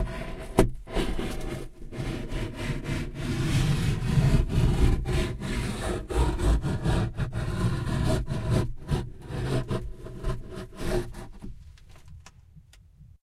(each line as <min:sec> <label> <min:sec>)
0:00.0 scratch 0:12.1